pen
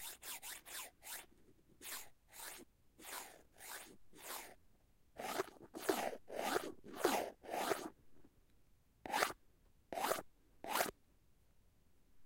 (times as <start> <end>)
0.0 4.6, 5.2 7.9, 9.1 10.9